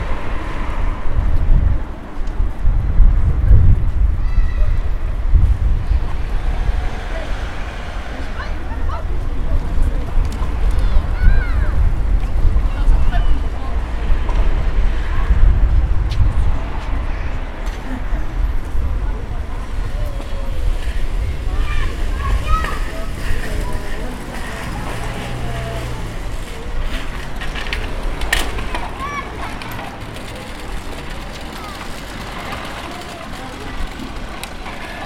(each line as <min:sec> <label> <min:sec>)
0:00.0 street traffic sound 0:35.0
0:00.0 younger girls were playing and biking 0:35.0
0:04.0 young group a people was chatting 0:35.0